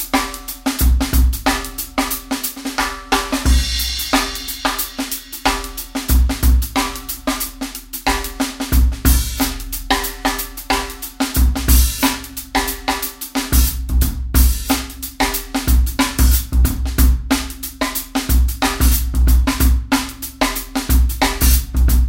snare drum 0.0 - 22.0

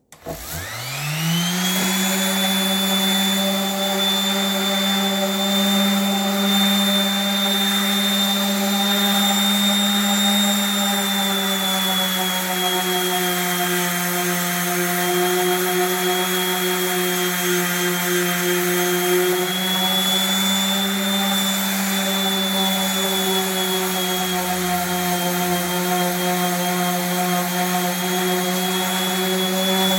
Electric Sander, Sanding On Wood 0.0 - 29.9

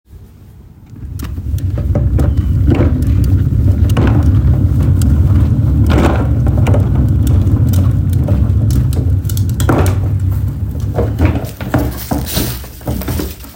Trash can on wheels being rolled across pavement 0.2 - 13.5

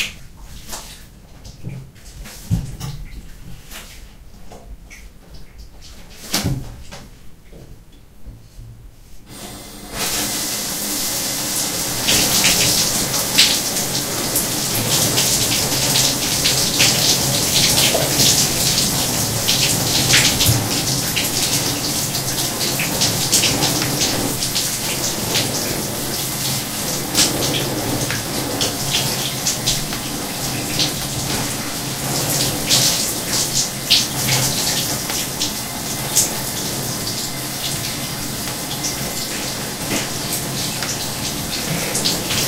shower 0.0 - 4.2
shower 9.3 - 42.4
showering it off with a brush 9.3 - 42.4

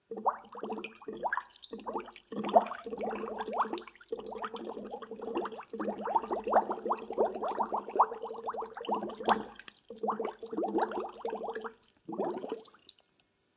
Water Bubbles 0.0 - 12.8

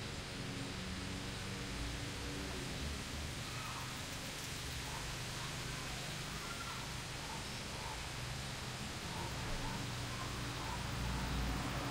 northwest winds sifting through the still green cholorophyll-laden leaves 0.0 - 11.9

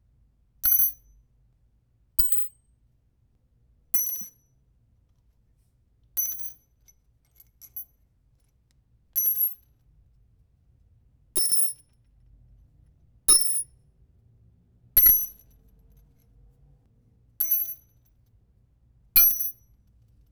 Dropping large nails individually on a cold floor 17.4 - 18.0
Dropping large nails individually on a cold floor 19.2 - 19.7

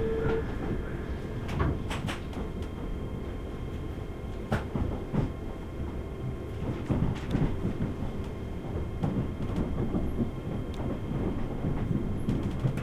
Electric Train departs 0.0 - 12.2
Announcements play in background on train and on the platform 0.0 - 12.7

